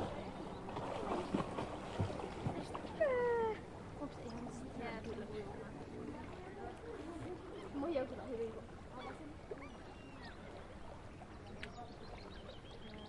0.0s Water flows in the background 13.0s
0.0s people are swimming 13.0s
0.0s Birds are singing 2.5s
2.6s kids are chattering 12.4s
9.0s Birds are singing 13.0s

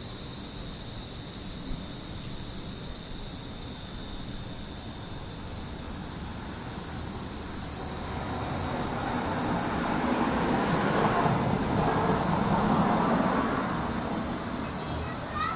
0.0s Bugs 15.5s
0.0s anual cicadas 15.5s
0.0s crickets 15.5s
0.0s wind 15.5s
6.3s cars go by 15.5s
11.0s Neighbor kids from the nextdoor apartment play 15.5s

